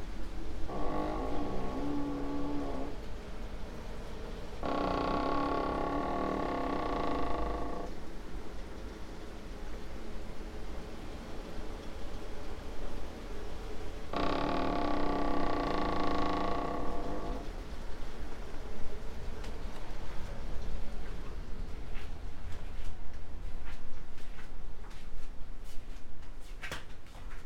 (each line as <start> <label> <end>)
0.0 rain 22.5
0.0 wind 27.4
0.7 creaking with doors 3.1
4.6 creaking with doors 7.9
14.1 creaking with doors 17.5
21.0 steps 27.4